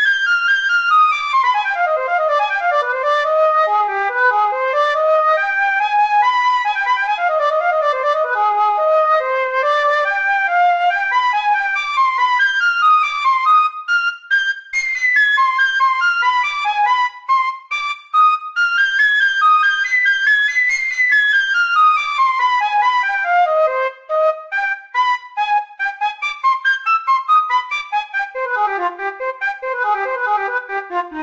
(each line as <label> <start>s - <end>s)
flute solo 0.0s - 31.2s